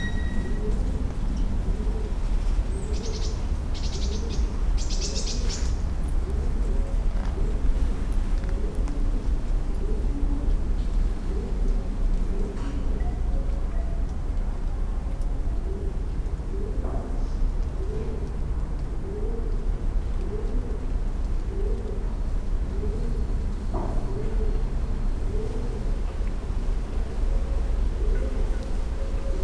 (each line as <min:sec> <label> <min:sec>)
0:13.6 traffic comes over the top of the buildings 0:29.4